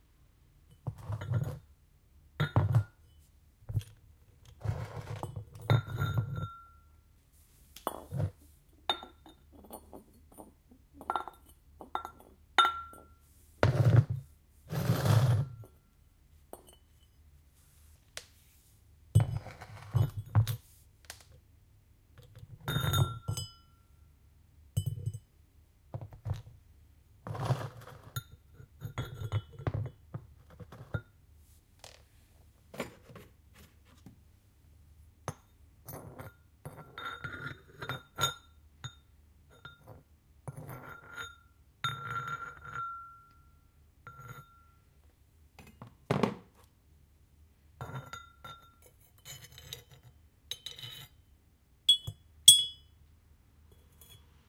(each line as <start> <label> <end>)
0.7 Ceramic jug, bowl and bottle clank 1.7
2.4 Ceramic jug, bowl and bottle clank 3.8
4.6 Ceramic jug, bowl and bottle clank 6.8
7.9 Ceramic jug, bowl and bottle clank 14.2
13.6 bowl is scraped slightly 15.6
19.2 Ceramic jug, bowl and bottle clank 20.6
22.6 Ceramic jug, bowl and bottle clank 23.8
27.4 Ceramic jug, bowl and bottle clank 30.0
51.9 Ceramic jug, bowl and bottle clank 52.9